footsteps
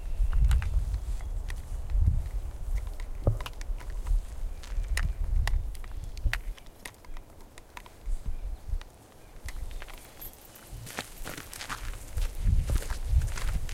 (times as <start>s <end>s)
7.7s 13.7s